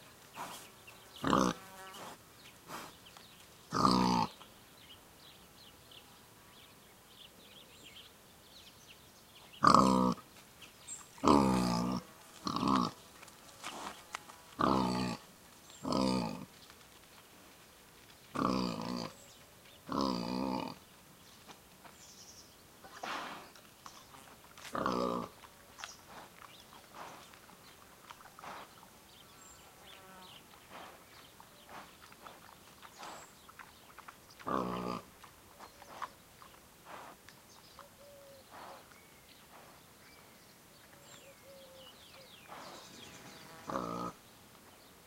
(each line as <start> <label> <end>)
0.0 pig rooting around, chewing and talking 4.4
11.0 pig rooting around, chewing and talking 22.0
22.8 pig rooting around, chewing and talking 29.6
25.8 Bird chirps 34.5
30.2 pig rooting around, chewing and talking 39.9
37.5 Bird chirps 44.0